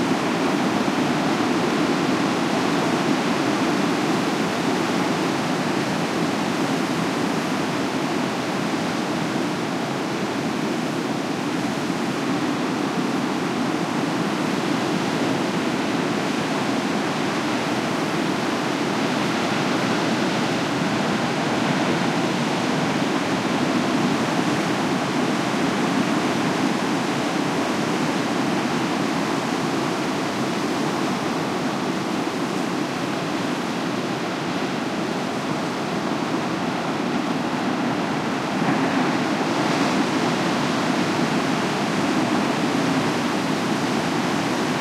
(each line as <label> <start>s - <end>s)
Crashing waves 16.2s - 44.8s